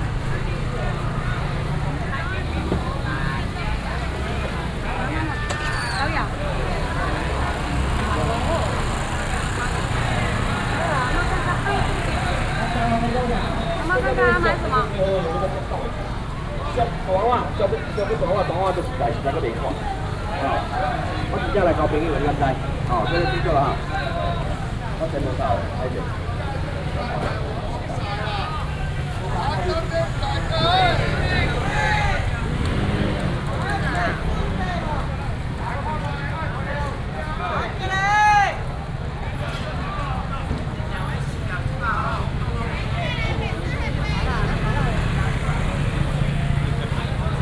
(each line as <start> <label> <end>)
0.0 traffic sound 47.4
0.0 vendors peddling 47.4